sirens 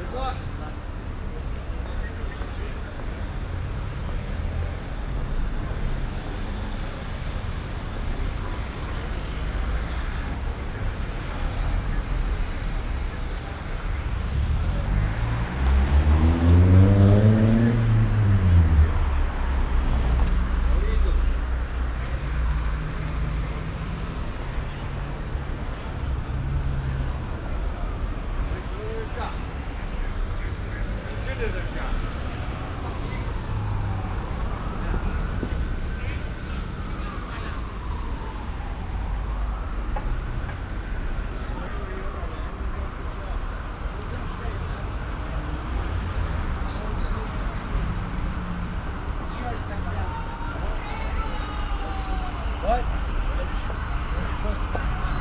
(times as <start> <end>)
31.3 43.6